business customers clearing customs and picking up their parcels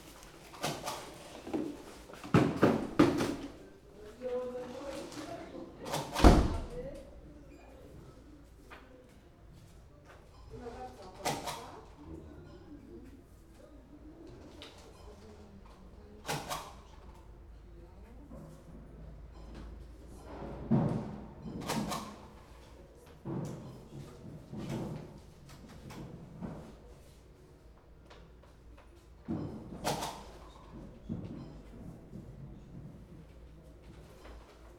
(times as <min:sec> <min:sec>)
0:00.0 0:07.4